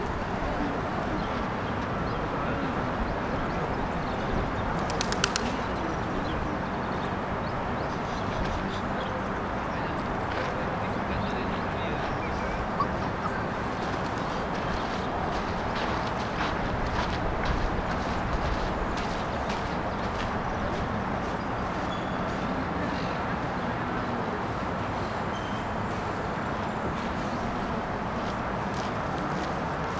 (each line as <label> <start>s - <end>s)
traffic 0.0s - 29.9s
wind 0.0s - 29.9s
pigeons 1.0s - 7.0s